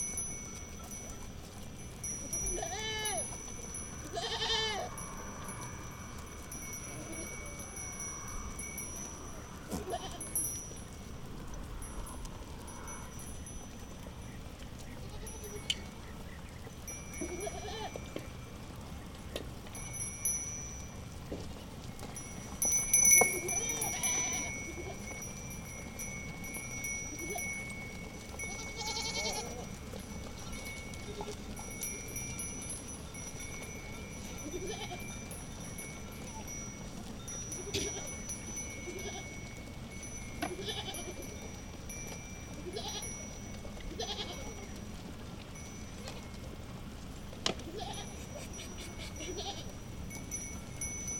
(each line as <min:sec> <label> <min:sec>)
0:00.0 Sheppard and his goats 0:51.1